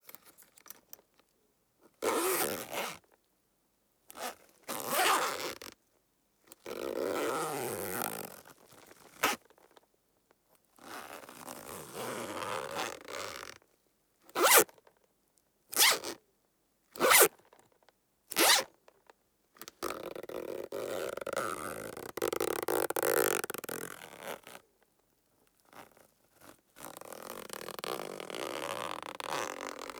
0.0s buckle 1.2s
2.0s zipper 3.0s
4.1s zipper 5.7s
6.6s zipper 9.4s
10.8s zipper 13.6s
14.4s buckle 14.7s
14.4s zipper 14.7s
15.7s zipper 16.2s
17.0s zipper 17.4s
18.3s zipper 18.7s
19.8s zipper 24.6s
25.6s zipper 29.9s
25.7s buckle 29.9s

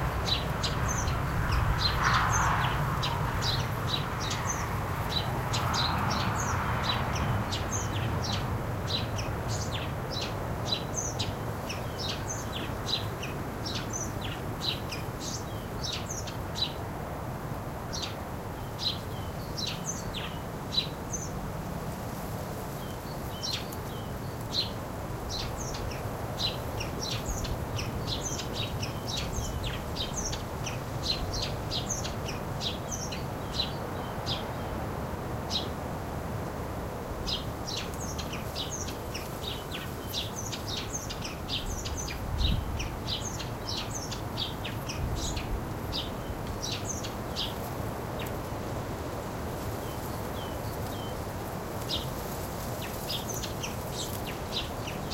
0.0s distant cars 55.1s
0.0s wind 55.1s
20.1s bamboo bush weaves in the air 55.1s

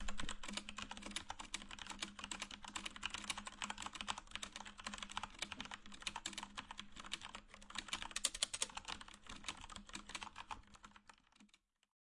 0.0s typing 11.9s

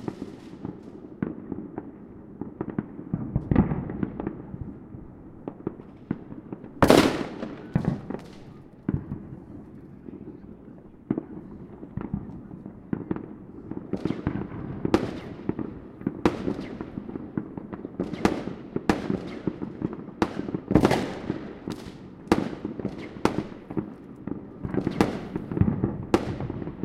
0.0s Fireworks 26.8s

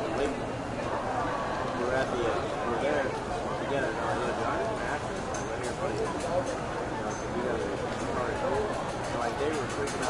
0.0s voices 10.0s

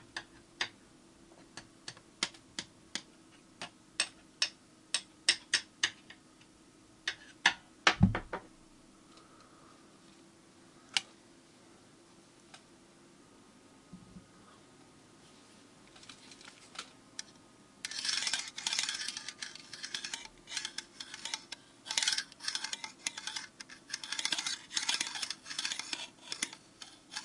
15.9s scratching 27.2s

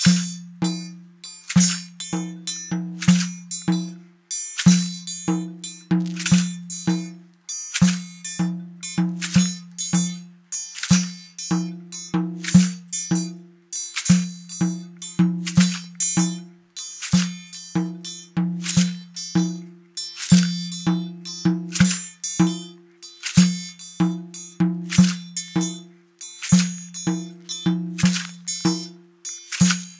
0.0s frame drum 29.9s
0.0s shaker 29.9s
0.0s triangle 29.9s

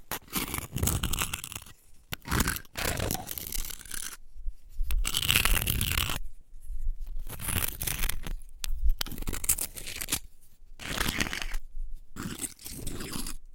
0.0s scratching a rock with an oyster shell 13.5s

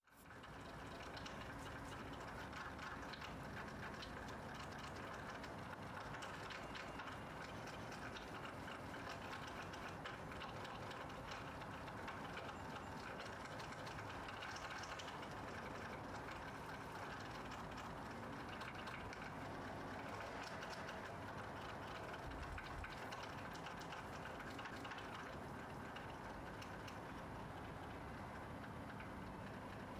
0.1s Raindrops on the window/metal roof 29.9s

